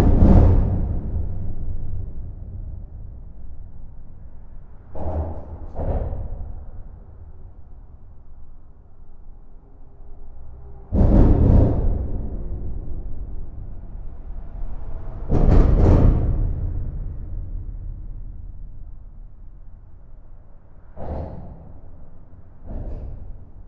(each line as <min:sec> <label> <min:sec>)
0:00.0 trucks are driving fast, doing huge impacts on the bridge structure 0:08.4
0:10.3 trucks are driving fast, doing huge impacts on the bridge structure 0:23.6